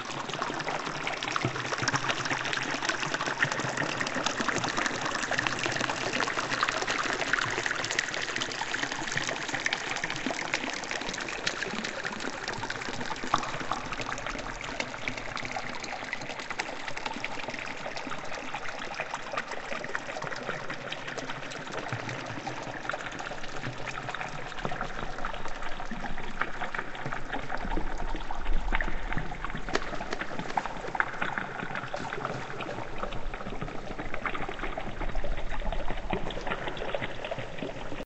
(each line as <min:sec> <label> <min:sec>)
0:00.0 bubbles 0:38.0